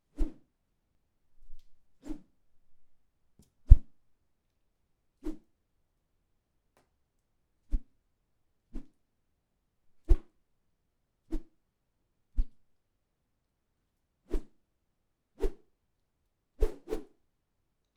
whoosh sound made by swinging a stick 0.2 - 0.4
whoosh sound made by swinging a stick 2.0 - 2.3
whoosh sound made by swinging a stick 16.6 - 17.1

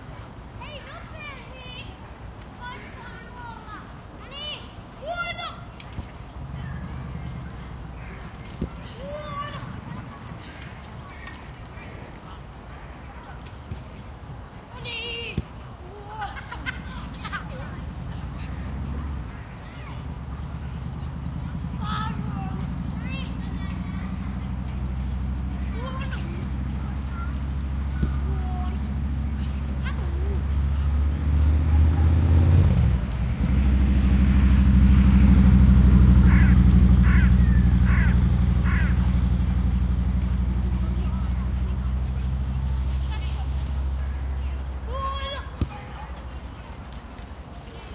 Voices 0.0 - 47.9
wind 0.0 - 47.9
children are playing football 0.6 - 34.6
loud motorcycle passes by 6.3 - 10.8
loud motorcycle passes by 16.1 - 46.6
children are playing football 35.5 - 47.9
crows 36.3 - 38.9

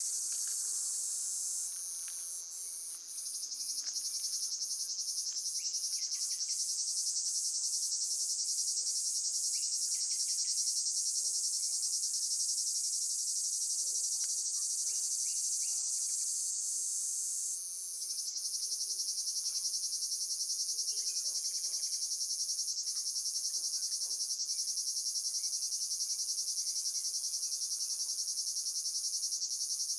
Cicadas 0.0 - 29.9

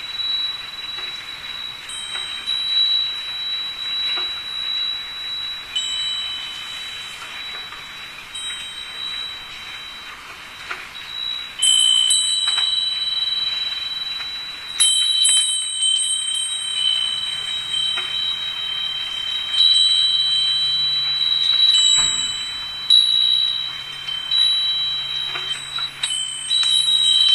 rain 0.0 - 27.3
window bells 0.0 - 27.3

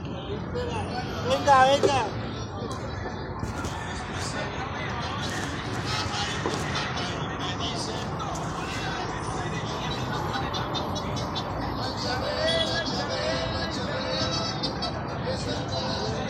voice and music of polisher shoes 1.2 - 2.2

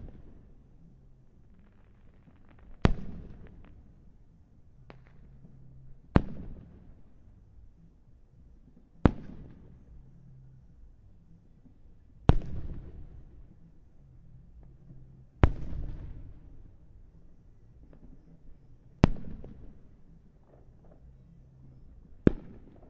Fireworks 0.0 - 4.2
Fireworks 4.8 - 7.2
Fireworks 9.0 - 10.0
Fireworks 12.2 - 13.6
Fireworks 14.6 - 16.8
Fireworks 19.0 - 22.8

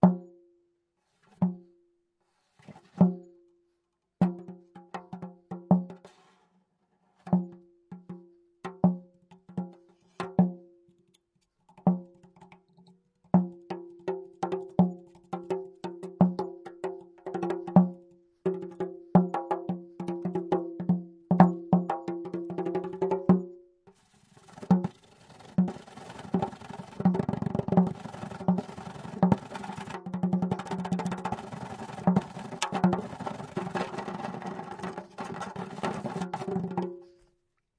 bendir played by hand 24.0 - 37.2

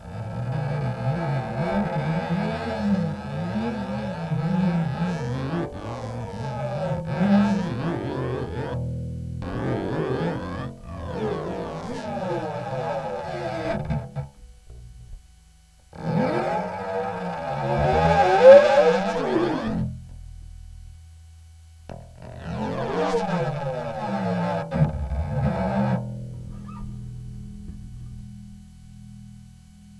Bass string metal rubbing 0.0 - 29.9

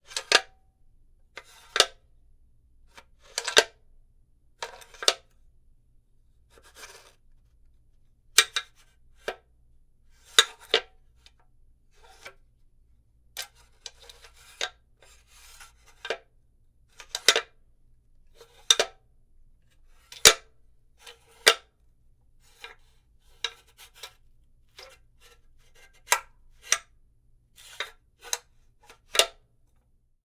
sounds made using a tile cutter 22.4 - 26.9

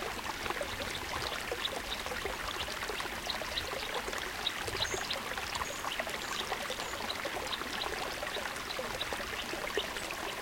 small mountain creek 0.0 - 10.4

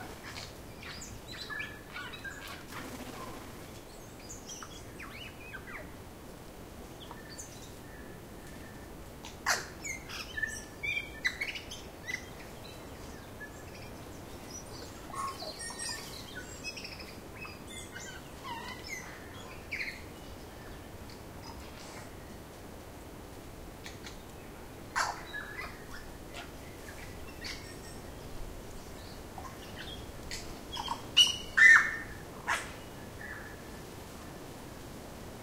Other birds, mainly Tuis, continuously singing in the distance 0.0 - 35.4
Slight wind 0.0 - 35.4
flapping its wings 2.5 - 3.9
One Tui is singing close by 30.7 - 33.6

